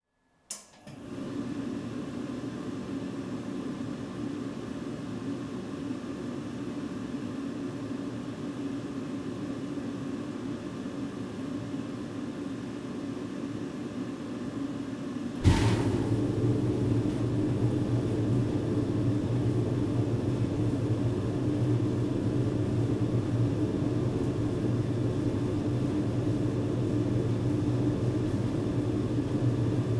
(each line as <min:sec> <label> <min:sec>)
0:15.2 boiler fan kicks in 0:29.9
0:15.3 Domestic boiler firing up 0:29.9
0:15.4 fuel starts burning in the chamber 0:29.9
0:15.4 water starts circulating beneath ceramic floor tiles 0:20.8